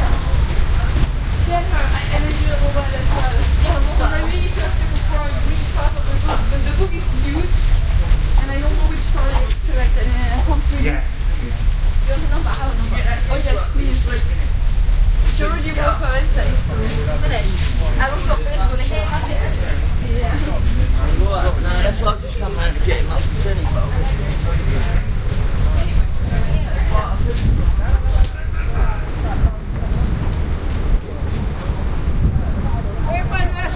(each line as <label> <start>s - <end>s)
Walking through underpass 0.0s - 33.7s